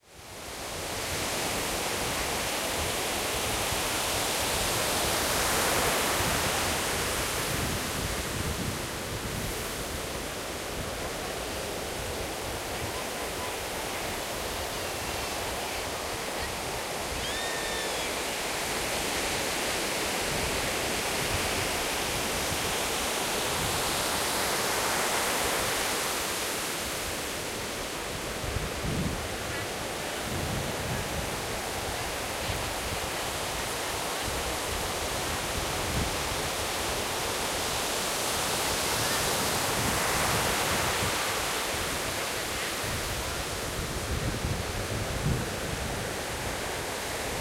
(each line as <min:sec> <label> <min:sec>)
0:00.0 Waves 0:47.4